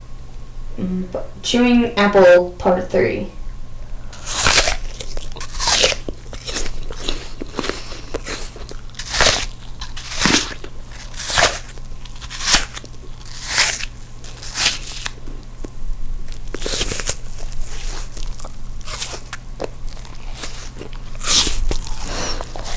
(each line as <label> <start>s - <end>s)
chewing apple 4.1s - 22.7s